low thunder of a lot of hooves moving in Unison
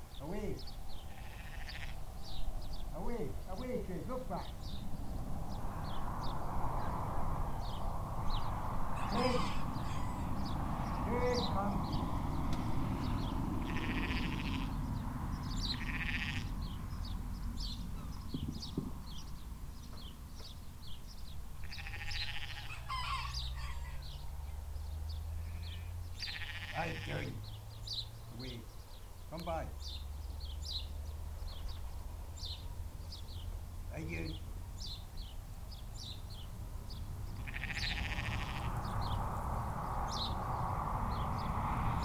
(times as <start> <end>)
16.6 21.6